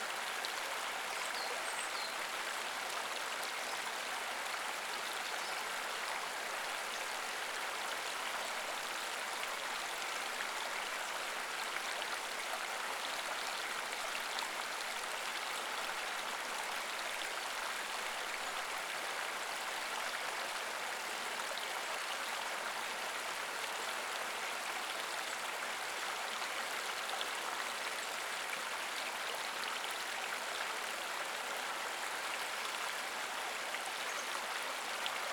0.0s running water stream 35.3s

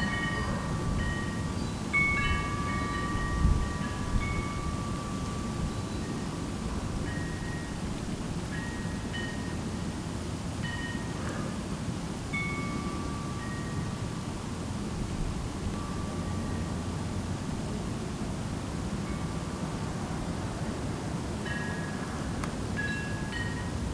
0.0s Wind chimes 11.5s
12.2s Wind chimes 14.8s
15.7s Wind chimes 17.2s
19.0s Wind chimes 19.8s
21.4s Wind chimes 23.9s

